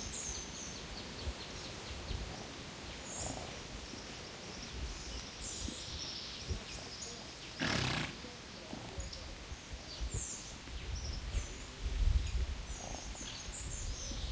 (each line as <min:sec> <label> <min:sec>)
0:00.0 tropical birds 0:14.3
0:02.0 Animales 0:04.8
0:05.5 Animales 0:10.4
0:12.6 Animales 0:14.3